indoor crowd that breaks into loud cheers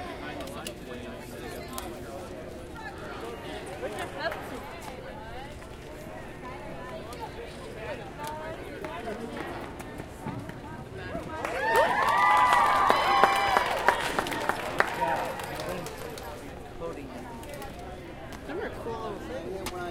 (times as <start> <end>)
11.4 15.4